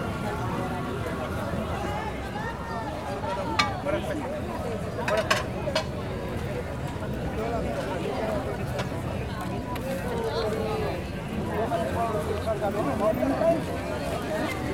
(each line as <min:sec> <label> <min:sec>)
0:00.0 bustling, colourful, friendly flea market 0:14.7